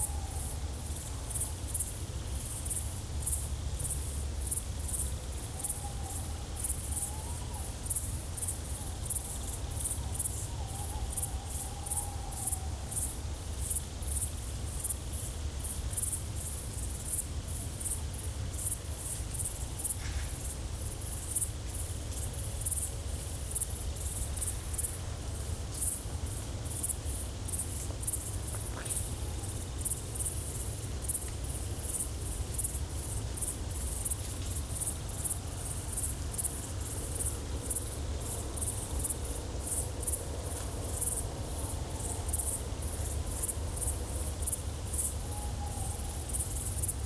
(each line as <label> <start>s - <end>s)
Chorus of Nocturnal Grasshoppers 0.0s - 47.0s